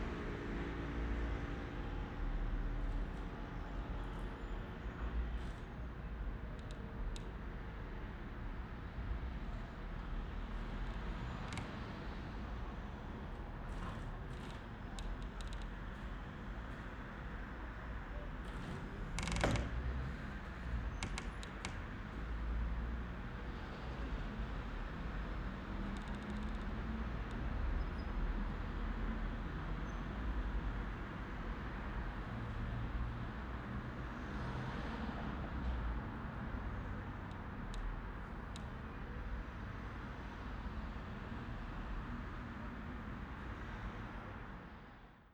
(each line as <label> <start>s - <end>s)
various squeaking windows 18.1s - 22.0s